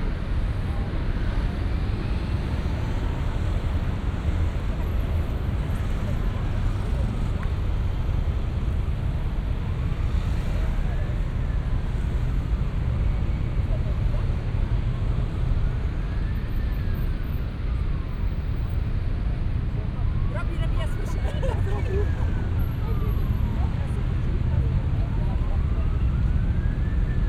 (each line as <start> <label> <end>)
0.0 evening traffic 27.2